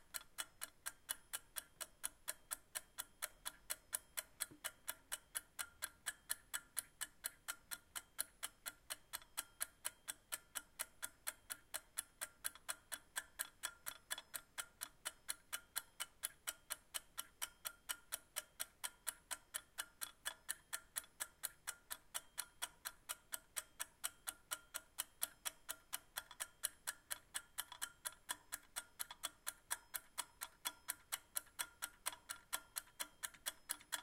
Kitchen Egg Timer 0.0 - 34.0

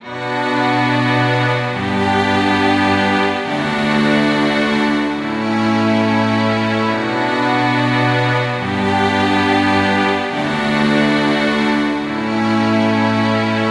strings 0.0 - 13.7

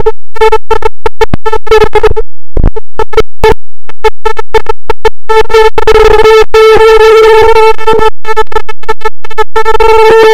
440 sine wave 0.0 - 10.3

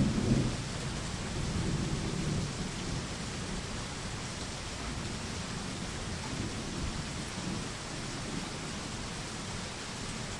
Thunderstorm 0.0 - 3.7
Heavy Rain 0.0 - 10.3
Thunderstorm 4.9 - 8.9

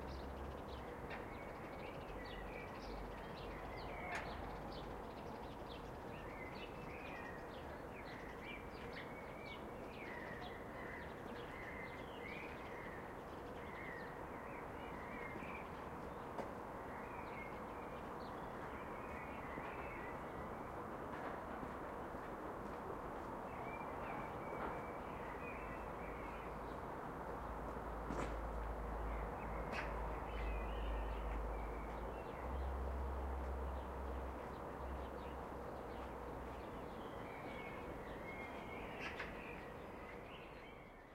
blackbirds 0.0 - 20.8
motorway 12.5 - 41.1
blackbirds 28.1 - 41.1

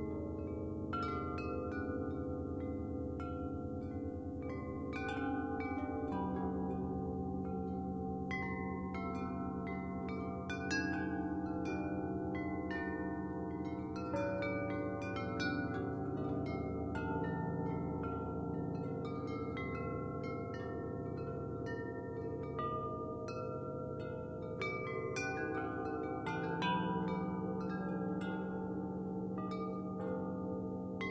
metal windchimes 0.0 - 31.1

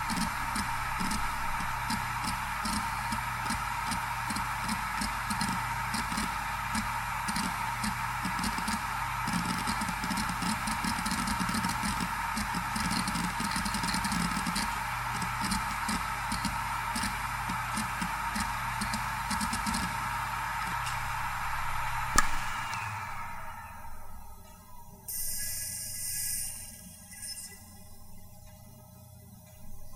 hard drive 0.0 - 25.1

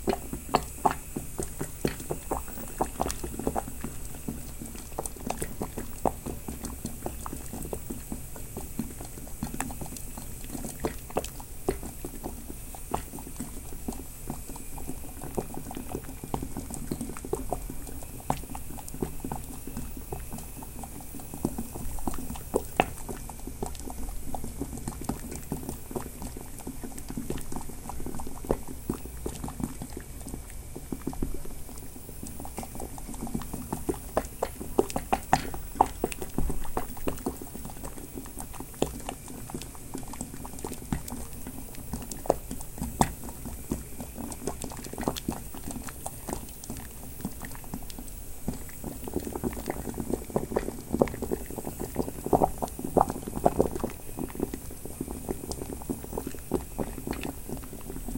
gas stove hissing 0.0 - 24.2
boiling 0.0 - 58.1

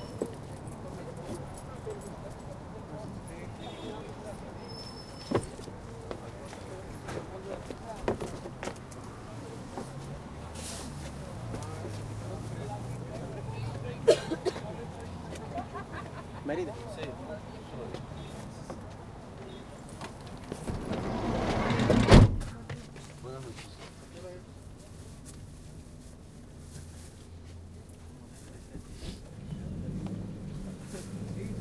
Riding a route taxi 0.0 - 31.6
people on the street chatting 0.0 - 31.6
traffic 0.0 - 31.6
door slides open 20.6 - 22.4

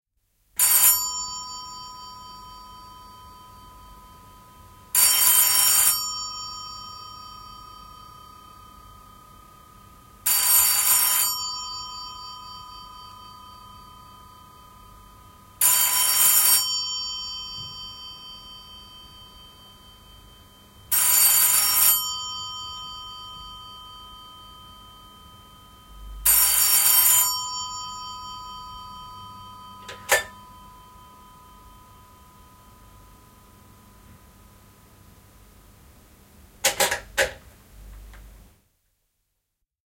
old landline telephone rings 0.6 - 34.5
old landline telephone rings 36.6 - 37.4

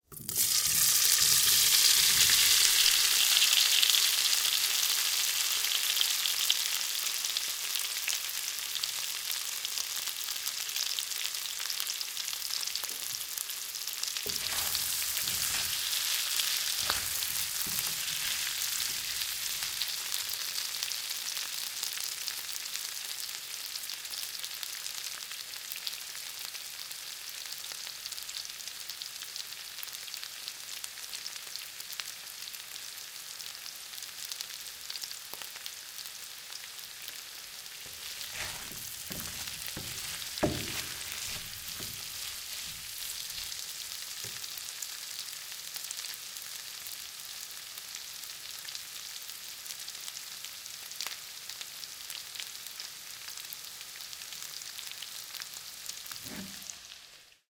Frying potatoes and stirring 0.0 - 22.1
Frying potatoes and stirring 36.0 - 45.5
Frying potatoes and stirring 55.9 - 57.1

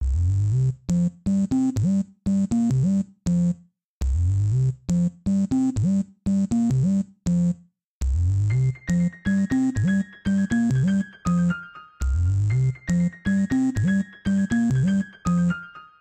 sub dub bass 0.0 - 1.1
sub dub bass 3.3 - 5.1
sub dub bass 8.0 - 8.8
psychadelic salsa piano 8.6 - 16.0
sub dub bass 12.0 - 13.1

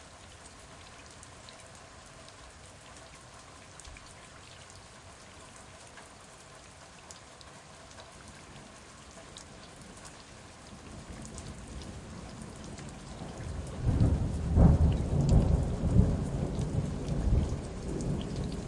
rain hitting the stairs 8.6 - 18.6
Big Thunder Claps 13.9 - 18.6

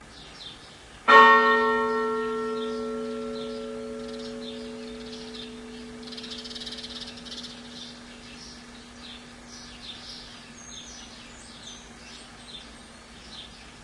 Single chime from church tower 1.1 - 9.1

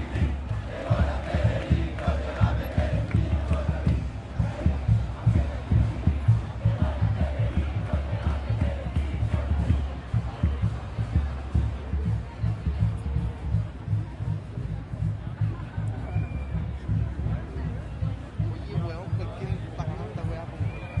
crowd 0.0 - 21.0
drums 0.0 - 21.0

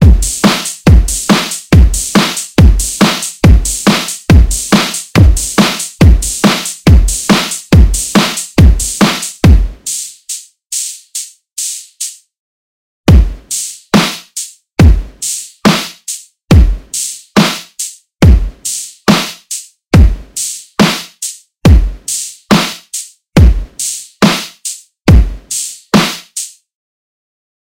Snare 0.0 - 12.2
Kick 13.1 - 13.4
Snare 13.2 - 14.6
Kick 14.8 - 15.1
Snare 15.2 - 16.3
Kick 16.5 - 16.8
Snare 17.0 - 18.0
Kick 18.2 - 18.5
Snare 18.6 - 19.7
Kick 20.0 - 20.3
Snare 20.4 - 21.4
Kick 21.7 - 21.9
Snare 22.1 - 23.1
Kick 23.4 - 23.7
Snare 23.8 - 24.8
Kick 25.1 - 25.4
Snare 25.5 - 26.6

